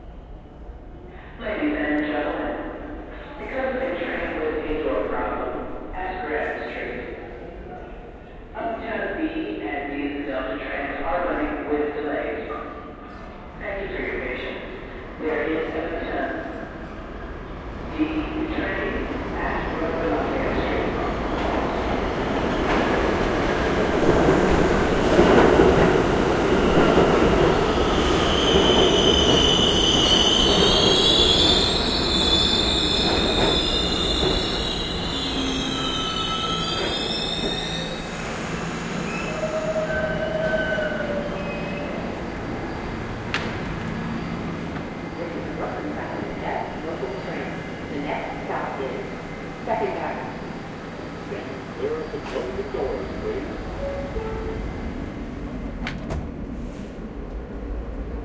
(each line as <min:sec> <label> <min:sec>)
0:00.0 Subway station announcement 0:58.2
0:13.0 train arrival 0:58.2
0:55.7 doors open 0:56.5